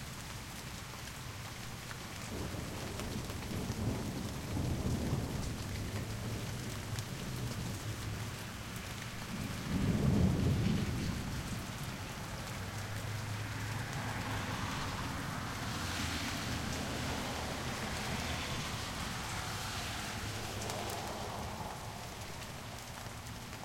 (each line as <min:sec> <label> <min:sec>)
0:00.0 rain 0:23.6
0:02.3 thunder 0:08.0
0:09.2 thunder 0:12.6